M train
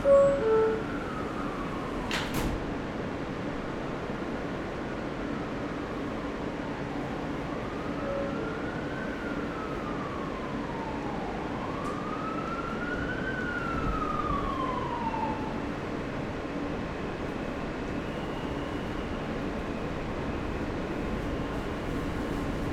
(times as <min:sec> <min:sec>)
0:00.0 0:06.1, 0:06.7 0:10.0, 0:15.7 0:22.7